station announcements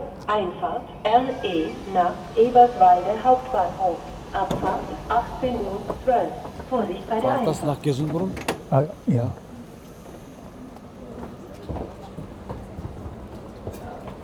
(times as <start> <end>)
0.0 9.8